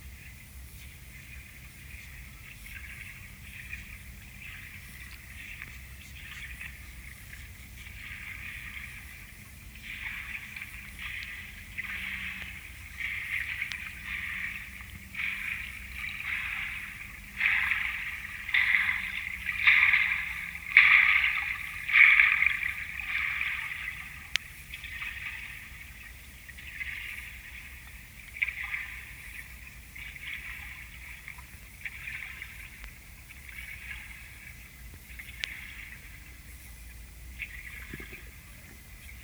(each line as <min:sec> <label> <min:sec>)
0:00.0 small waves created by the movement 0:39.2